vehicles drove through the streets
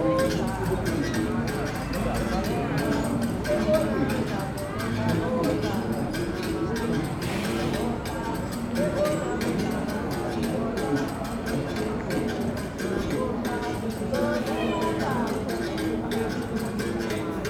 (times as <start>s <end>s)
4.4s 8.6s